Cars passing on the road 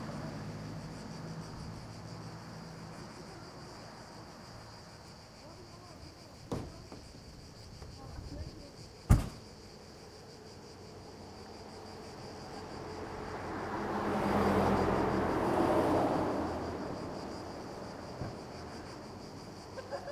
0.0s 5.7s, 10.2s 20.1s

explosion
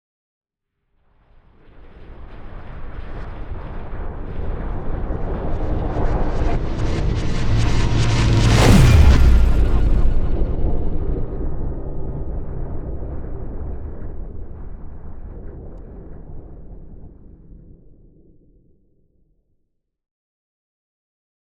5.3s 15.4s

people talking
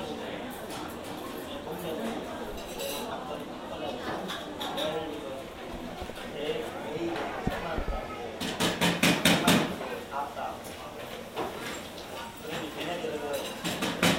0.0s 8.4s

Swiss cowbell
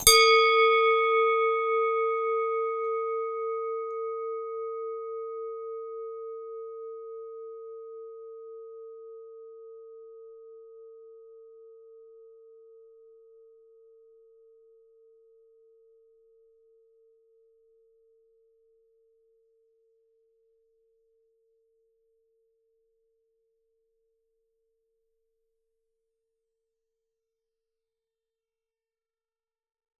0.0s 7.4s

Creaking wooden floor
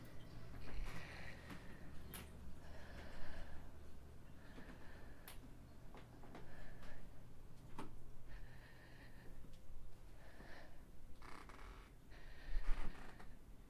11.2s 11.9s, 12.6s 13.4s

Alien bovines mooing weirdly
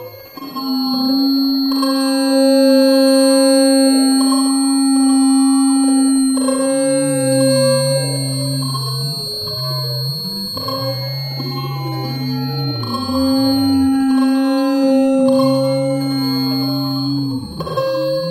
11.4s 18.3s

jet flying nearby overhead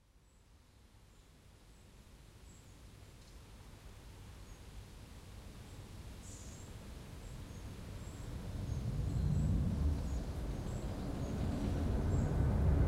8.2s 12.8s

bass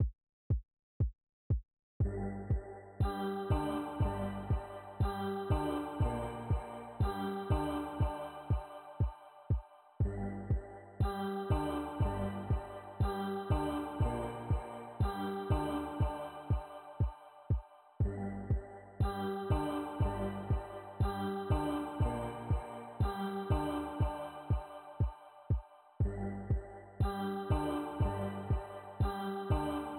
2.0s 8.7s, 10.0s 16.6s, 18.0s 24.6s, 26.0s 29.9s

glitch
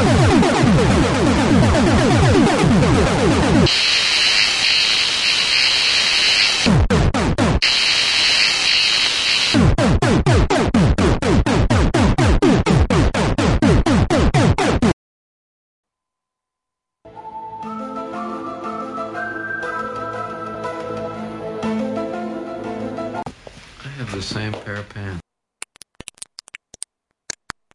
0.0s 14.9s

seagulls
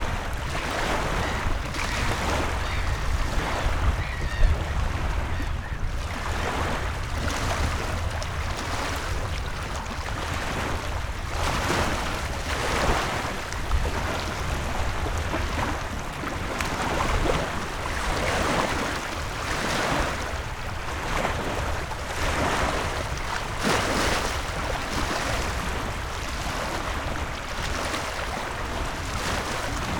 0.8s 6.1s

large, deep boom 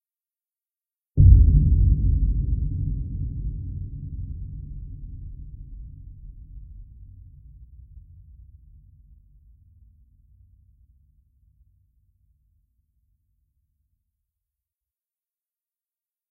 1.2s 9.0s

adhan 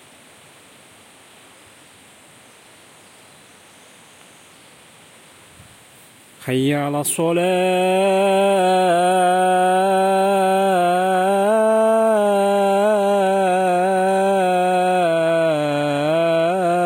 6.4s 16.8s

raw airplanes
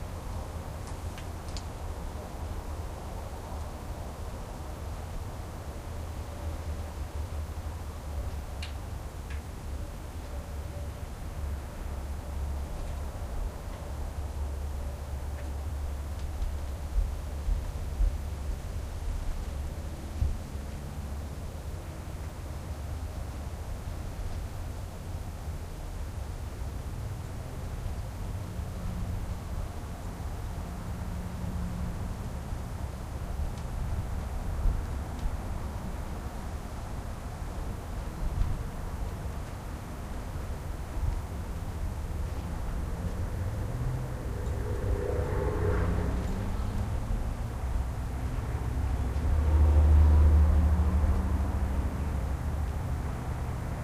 40.8s 49.3s

